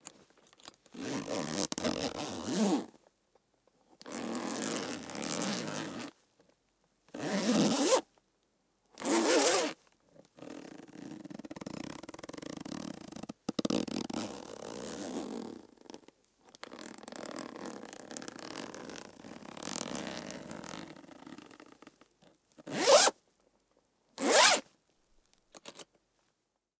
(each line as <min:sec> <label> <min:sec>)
0:00.9 zipper 0:02.9
0:04.1 zipper 0:06.1
0:07.2 zipper 0:08.0
0:07.2 buckle 0:08.0
0:09.0 zipper 0:09.8
0:09.0 buckle 0:09.7
0:10.4 zipper 0:16.0
0:16.6 zipper 0:21.8
0:22.6 zipper 0:23.2
0:22.7 buckle 0:23.1
0:24.2 zipper 0:24.7
0:24.2 buckle 0:26.0
0:25.6 zipper 0:25.8